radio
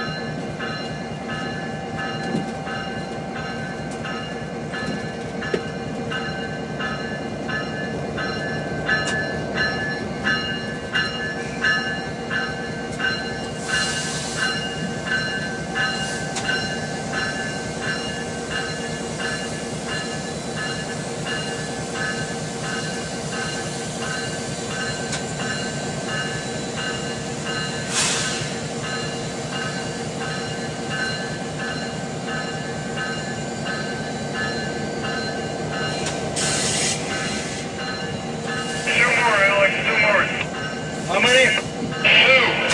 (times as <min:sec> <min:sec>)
0:38.9 0:40.5, 0:41.1 0:42.7